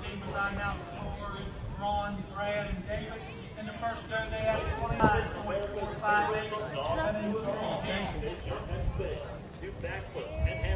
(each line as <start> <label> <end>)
0.0 Crowd noise 10.7